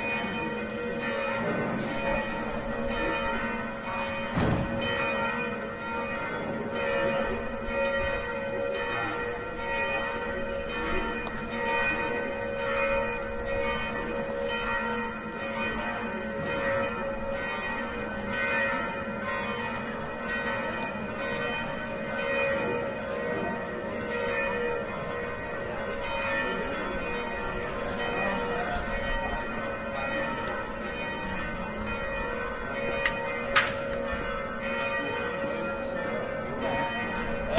crowd 0.0 - 5.5
Bells tolling in background 0.0 - 37.5
crowd 19.8 - 34.2

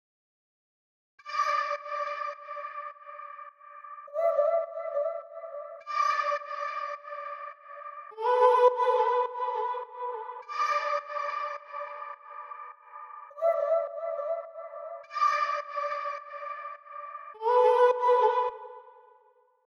Vocal 4.1 - 19.0

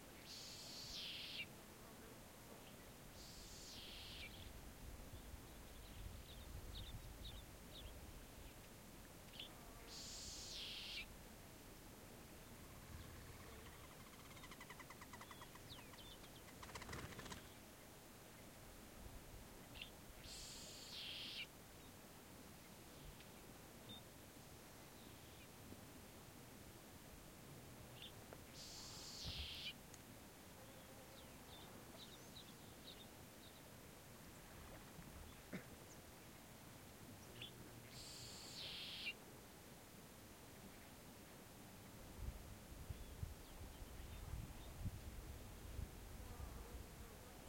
insects 0.2 - 1.5
birds 2.6 - 4.5
insects 2.7 - 4.6
insects 9.4 - 11.1
insects 12.6 - 17.6
birds 12.8 - 17.6
insects 20.2 - 21.5
birds 28.0 - 29.8
insects 28.5 - 29.8
birds 37.2 - 39.2
insects 37.9 - 39.2

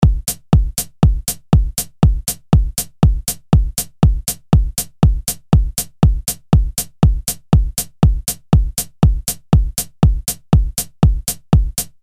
Kick Drum 0.0 - 12.0

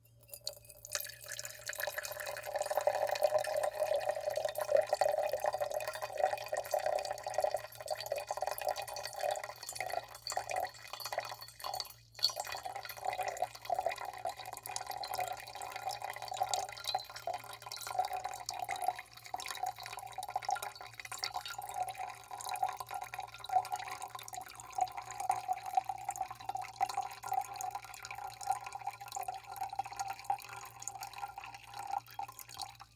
Liquid slowly trickling into container 0.0 - 32.9

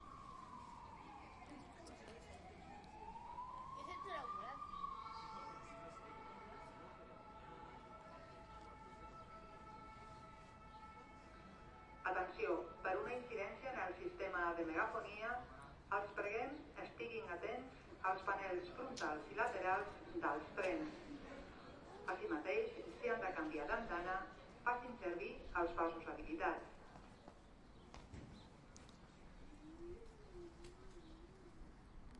birds are singing 25.2 - 32.1

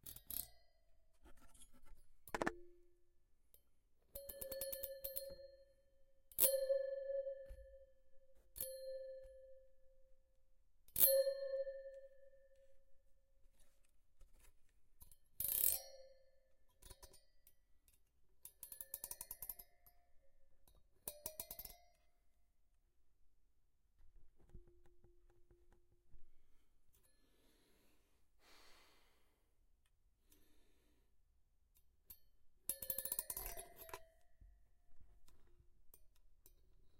video card heatsink being plucked and scraped 2.3 - 2.5

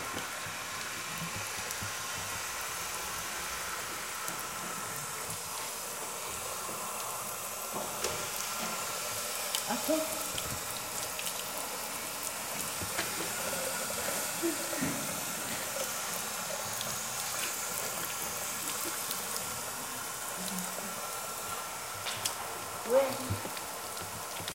runs a tap 0.0 - 24.5

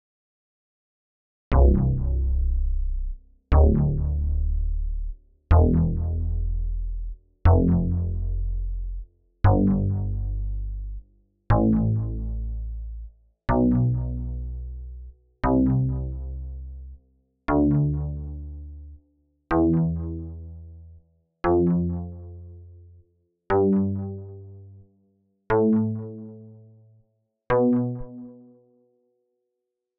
bass w delay 1.5 - 13.0

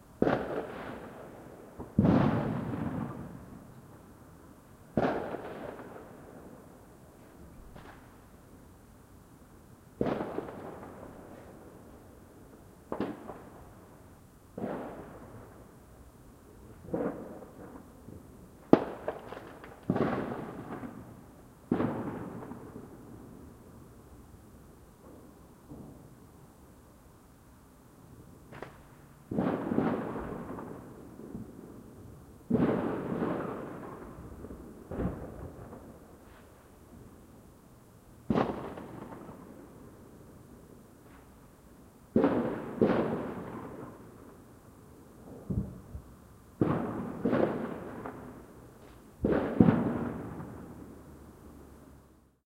fireworks going off at different distances 0.0 - 8.9
background noise of a distant highway 0.0 - 52.4
fireworks going off at different distances 9.5 - 52.4

